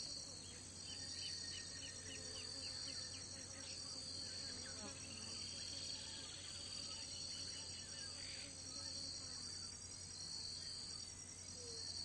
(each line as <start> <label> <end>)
0.0 insects 12.0